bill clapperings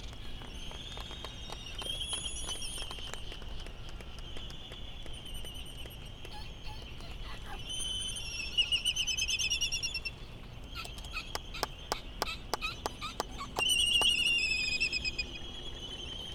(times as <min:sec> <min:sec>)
0:10.6 0:14.2